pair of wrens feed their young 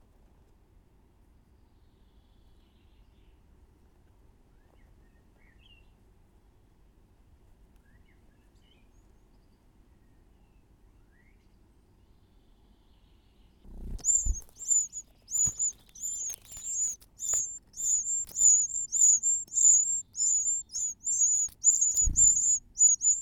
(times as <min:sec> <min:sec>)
0:13.7 0:23.2